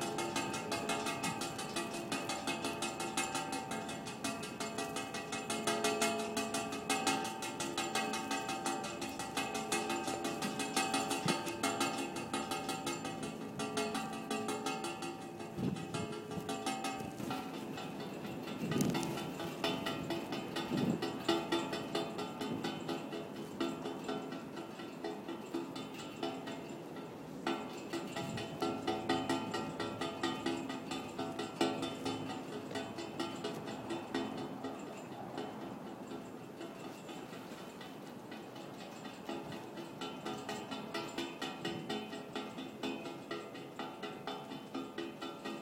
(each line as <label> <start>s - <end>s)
flagpole line hitting pole in wind 0.0s - 23.8s